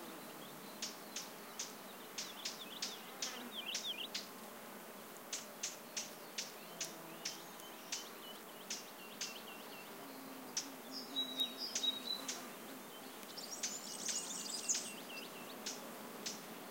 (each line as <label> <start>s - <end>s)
Warbler 0.1s - 4.3s
Warbler 5.3s - 16.7s